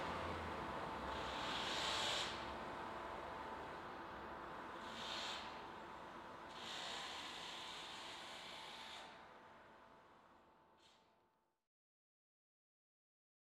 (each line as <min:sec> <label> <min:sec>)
0:00.0 cars are driving across the bridge 0:04.8